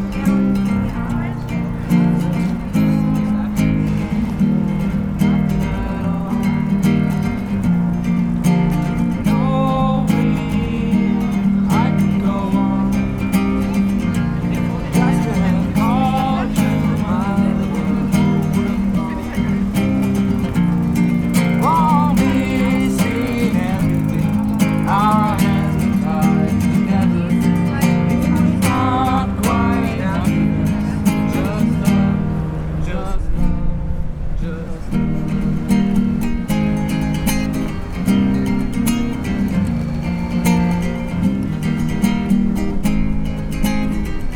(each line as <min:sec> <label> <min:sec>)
0:00.0 singende menschen 0:44.3